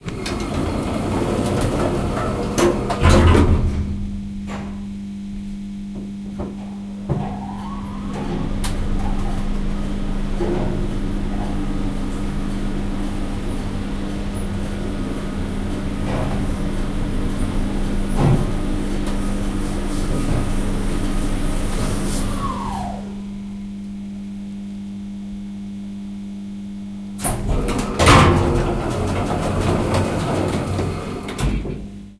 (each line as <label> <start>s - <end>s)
Doors closing 0.0s - 5.0s
cabin moving 0.0s - 5.0s
doors opening 0.0s - 5.0s
cabin moving 6.0s - 22.5s
doors opening 6.3s - 23.6s
Doors closing 6.3s - 23.7s
Doors closing 27.2s - 32.1s
doors opening 27.2s - 32.0s
cabin moving 27.2s - 31.9s